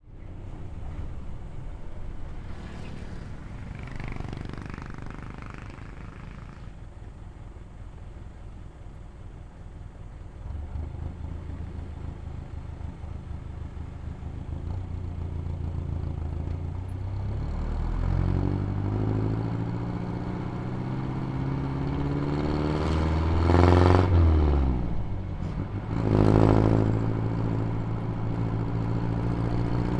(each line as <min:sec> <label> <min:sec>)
0:00.0 cars 0:29.9
0:00.0 motorcycles 0:29.9
0:00.0 trucks 0:29.9